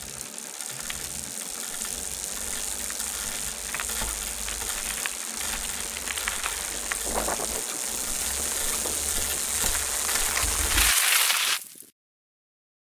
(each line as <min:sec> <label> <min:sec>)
0:00.0 Mountain Bike Braking on Gravel 0:11.9